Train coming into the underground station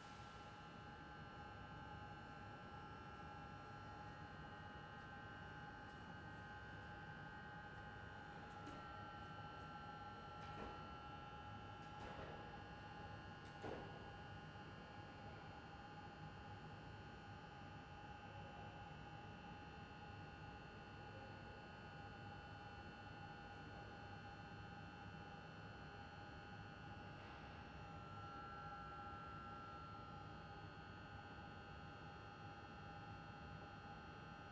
0:00.0 0:07.5

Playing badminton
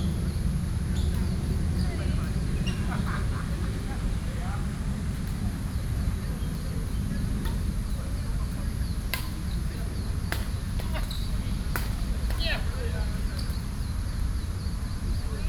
0:05.1 0:14.2

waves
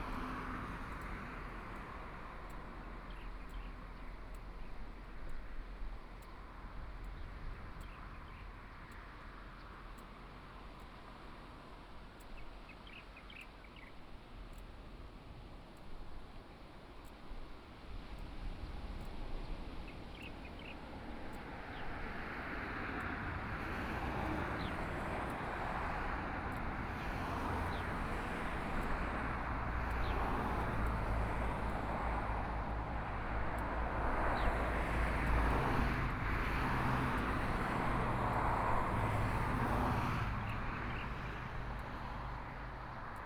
0:18.8 0:32.3

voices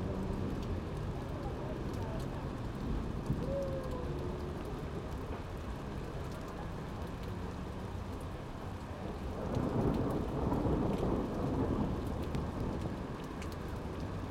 0:01.2 0:04.7

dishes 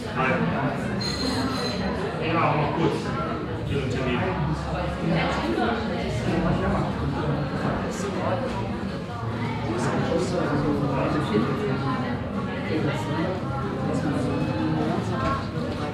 0:01.0 0:01.9

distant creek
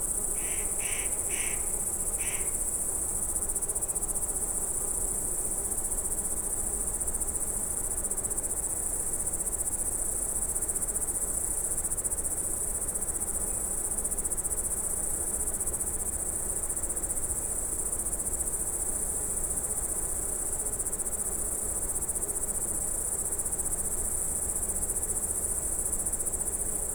0:00.4 0:02.6

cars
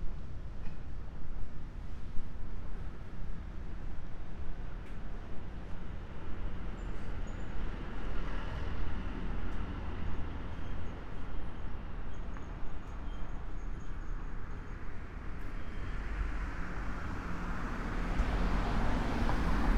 0:15.5 0:19.7

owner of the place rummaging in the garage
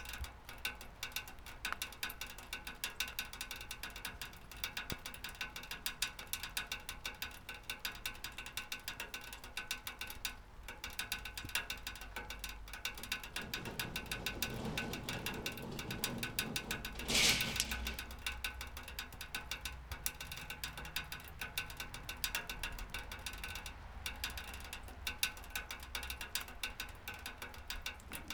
0:12.8 0:18.4

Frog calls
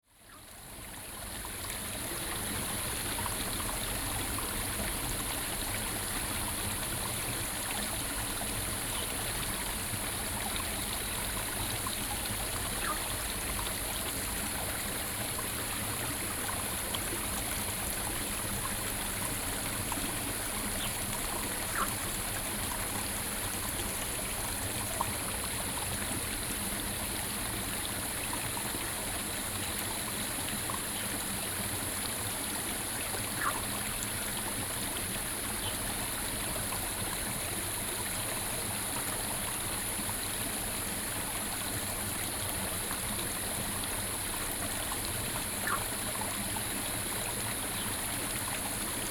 0:12.8 0:13.1, 0:21.6 0:22.1, 0:33.3 0:33.8, 0:45.6 0:46.1

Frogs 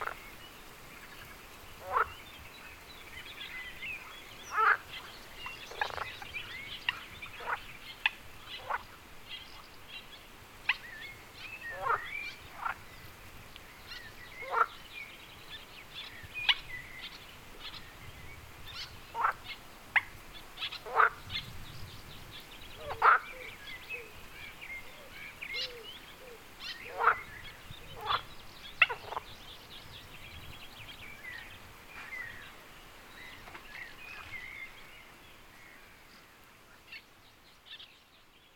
0:00.0 0:00.4, 0:01.7 0:09.7, 0:10.6 0:12.9, 0:13.8 0:15.2, 0:18.8 0:21.4, 0:22.8 0:29.4

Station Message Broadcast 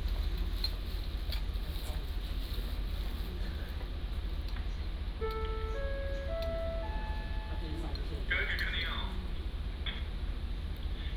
0:05.2 0:09.0

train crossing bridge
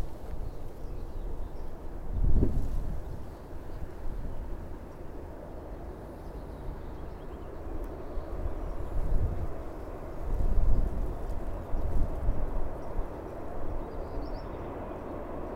0:03.3 0:15.5

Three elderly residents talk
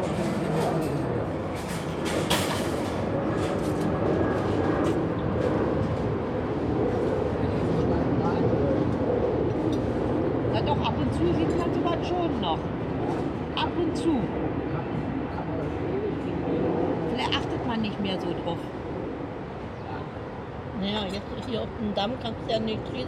0:07.3 0:23.0

